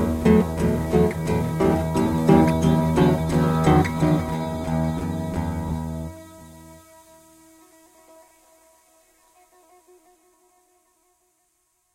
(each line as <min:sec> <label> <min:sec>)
0:00.0 Acoustic Guitar 0:08.3